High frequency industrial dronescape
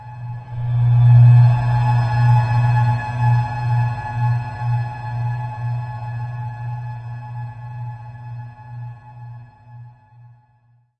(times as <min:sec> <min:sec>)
0:00.1 0:03.8